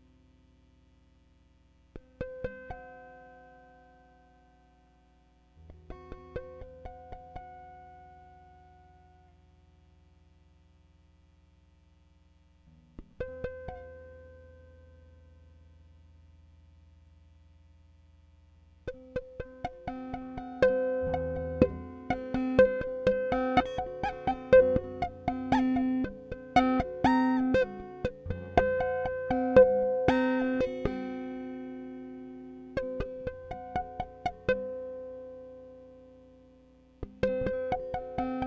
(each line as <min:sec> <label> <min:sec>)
0:01.9 Guitar tapping 0:03.0
0:05.6 Guitar tapping 0:09.1
0:12.7 Guitar tapping 0:14.6
0:18.8 Guitar tapping 0:35.3
0:37.0 Guitar tapping 0:38.4